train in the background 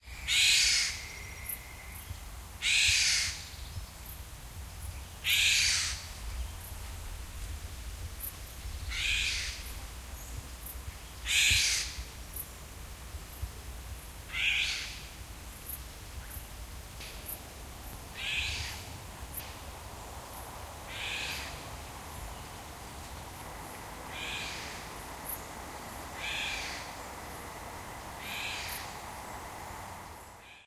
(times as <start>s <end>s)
16.8s 30.6s